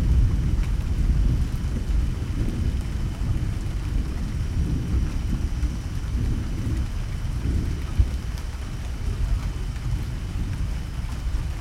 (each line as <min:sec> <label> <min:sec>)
0:00.0 big thunders 0:11.6
0:00.0 light rain 0:11.6